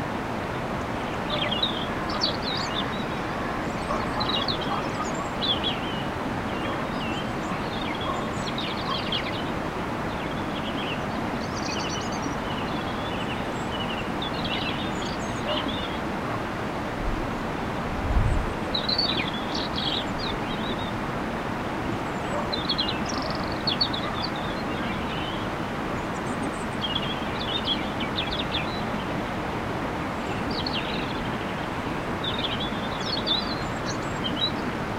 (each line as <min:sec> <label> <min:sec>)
0:00.4 Blackbirds 0:16.6
0:00.7 Robins 0:16.6
0:21.8 Blackbirds 0:29.2